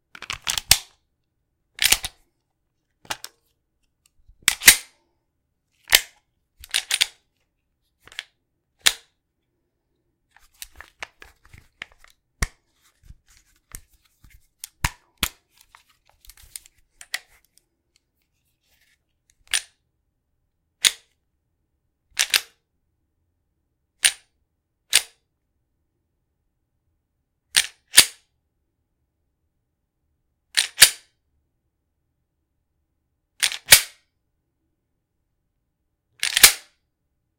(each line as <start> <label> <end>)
1.8 magazine release 2.1
3.0 handling of my 9mm Taurus G2c 5.0
4.4 magazine release 4.9
5.9 magazine release 7.2
5.9 handling of my 9mm Taurus G2c 7.2
36.2 magazine release 36.7
36.2 reload 36.7